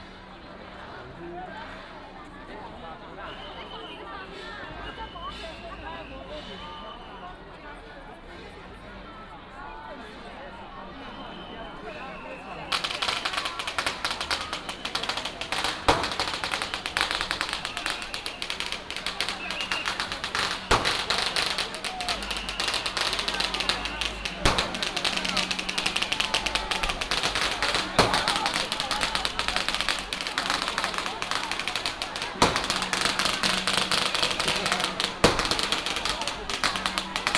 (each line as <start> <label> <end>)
0.0 Crowded crowd 37.3
11.2 Fireworks 37.3
11.2 firecrackers sound 37.3